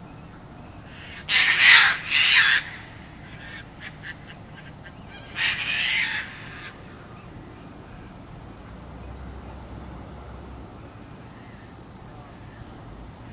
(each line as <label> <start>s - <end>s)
Caspian Terns chase each other and shriek 0.9s - 7.1s